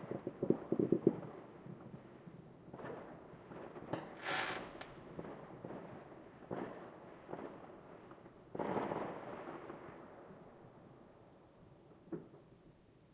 0.0s close fireworks going off 10.4s
0.0s distant fireworks 12.6s

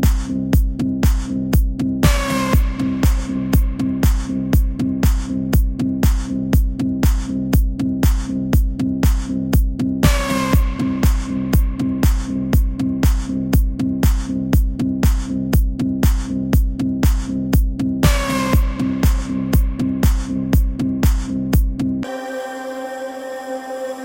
0.0s Kick 21.8s

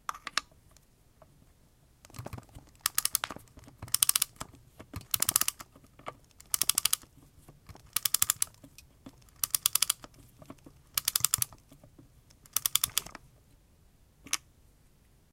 2.8s winding up a wind-up clock 3.3s
3.9s winding up a wind-up clock 4.4s
5.0s winding up a wind-up clock 5.6s
6.4s winding up a wind-up clock 7.1s
7.8s winding up a wind-up clock 8.6s
9.2s winding up a wind-up clock 10.1s
10.9s winding up a wind-up clock 11.6s
12.4s winding up a wind-up clock 13.2s

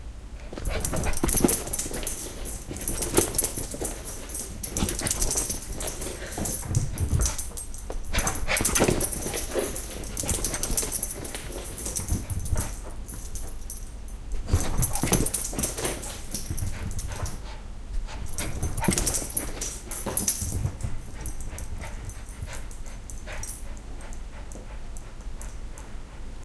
0.4s dog running laps around a piece of furniture 26.4s
0.6s jingling 17.4s
14.5s panting 26.4s
18.1s jingling 25.9s

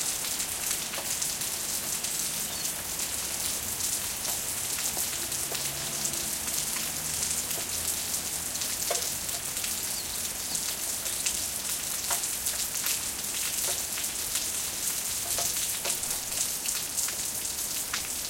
0.0s Rain 18.2s

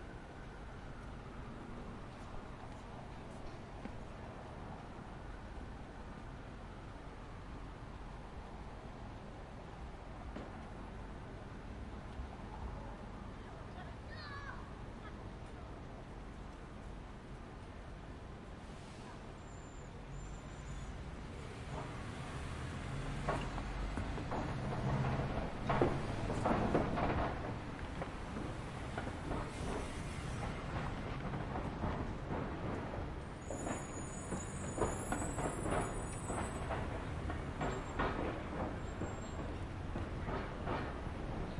0.0s Distant siren 2.5s
0.0s Buses 41.5s
0.0s Light traffic 41.5s

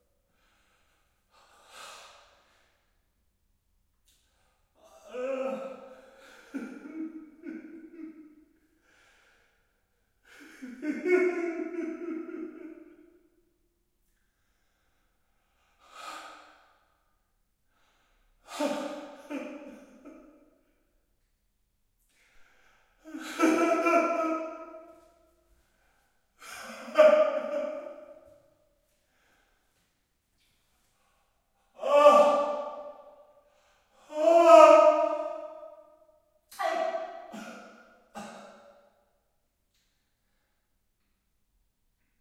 5.0s men crying in pain 8.2s
10.4s men crying in pain 12.8s
23.1s men crying in pain 24.7s
26.4s men crying in pain 28.1s
31.8s men crying in pain 32.8s
34.1s men crying in pain 35.4s

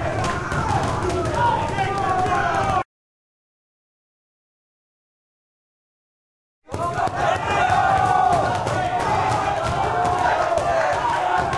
6.7s guys wrestling 11.5s
6.8s applause cheer 11.5s

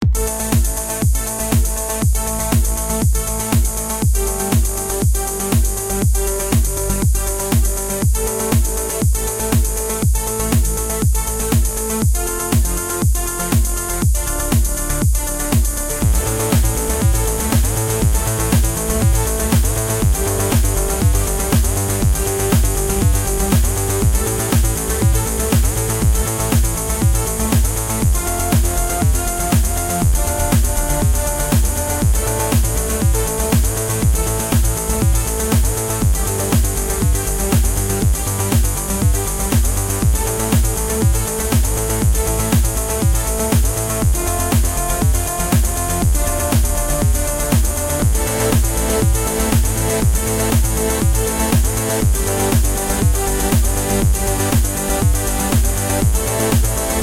0.0s synth 57.0s

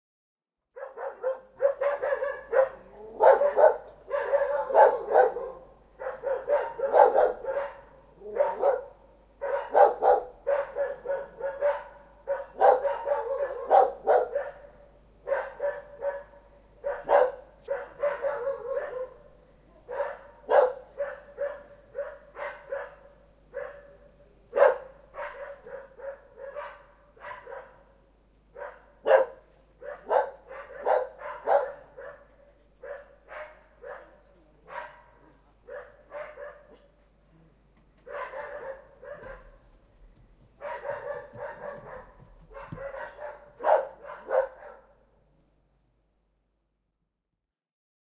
0.7s bark 36.9s
38.0s bark 39.6s
40.6s bark 45.1s

